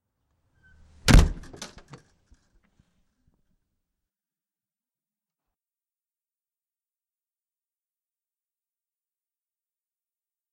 Front door slam 1.0 - 1.9

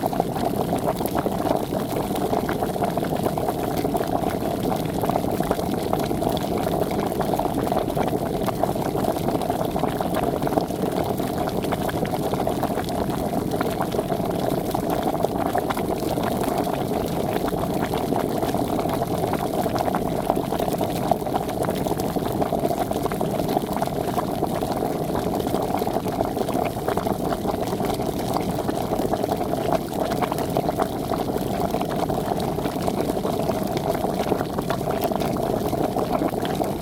boiling water on an electric hob 0.0 - 36.8

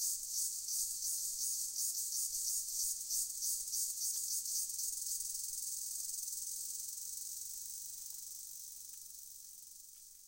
Cicada-Indian Insect Sound 0.0 - 10.2

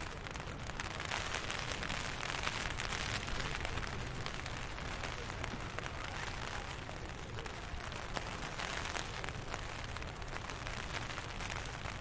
rain 0.0 - 12.0
wind 0.0 - 12.0

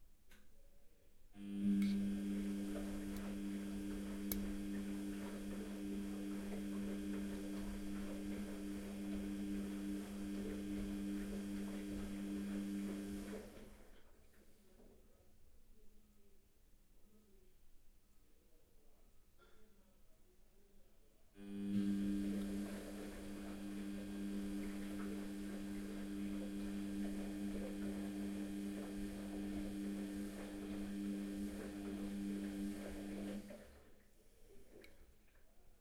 washing machine 1.4 - 14.2
washing machine 21.4 - 35.0

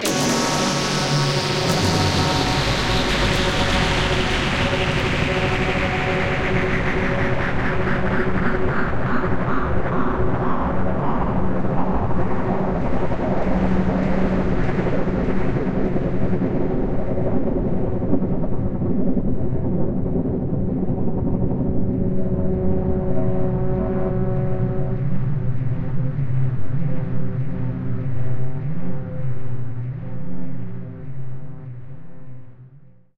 Big sting that peacefully concludes 0.0 - 6.6

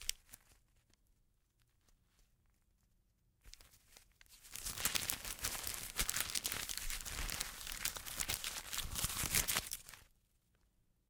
paper or money being shuffled or flipped through 0.0 - 0.9
paper or money being shuffled or flipped through 3.4 - 10.1

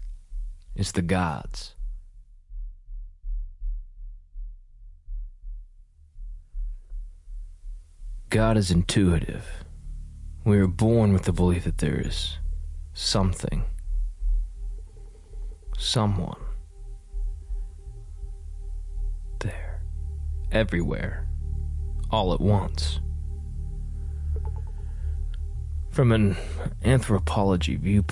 music 0.0 - 28.1
poetry 0.8 - 1.8
poetry 8.3 - 9.7
poetry 10.4 - 12.4
poetry 13.0 - 13.8
poetry 15.7 - 16.6
poetry 19.3 - 21.3
poetry 22.0 - 23.0
poetry 25.9 - 28.1

